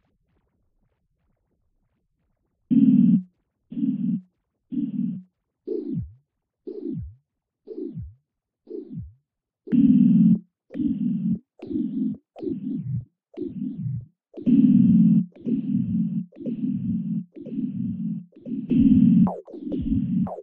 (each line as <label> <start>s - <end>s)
Synth 9.7s - 20.4s